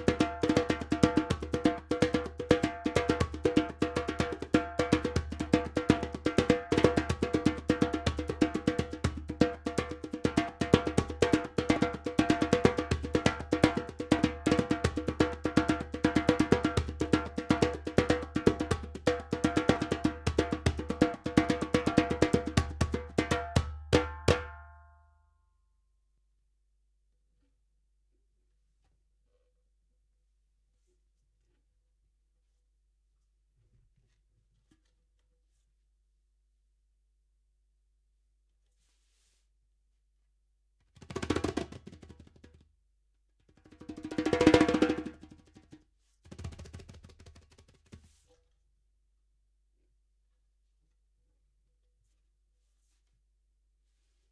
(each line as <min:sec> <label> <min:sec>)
0:00.0 djembe 0:24.6
0:41.0 djembe 0:42.5
0:43.6 djembe 0:45.8